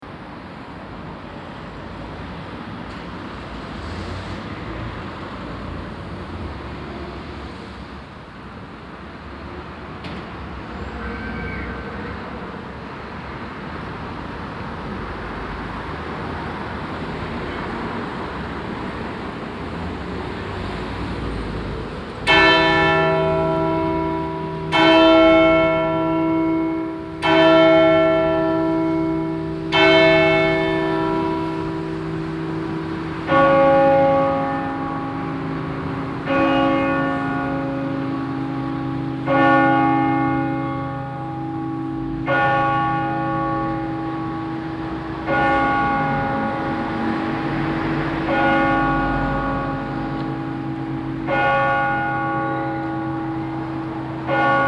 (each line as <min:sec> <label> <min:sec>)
0:00.0 street traffic 0:54.6
0:22.2 ringing of the 12o clock bells 0:54.6